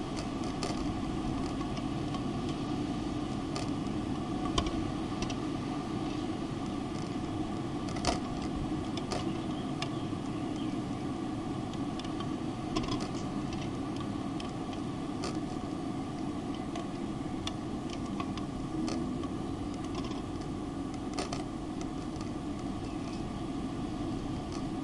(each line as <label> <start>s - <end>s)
ventilation fan shutters clicking in the breeze 0.0s - 24.8s
wind in the tube-shaped fan chamber 0.0s - 24.8s
birds in the distance 8.8s - 14.3s
birds in the distance 22.4s - 24.0s